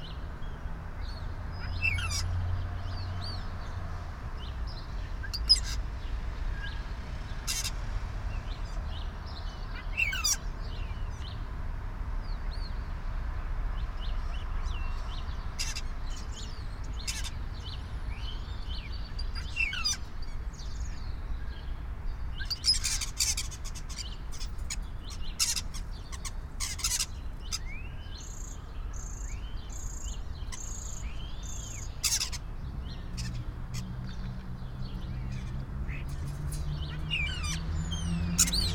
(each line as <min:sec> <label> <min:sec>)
0:00.0 Birds on a Rooftop 0:38.7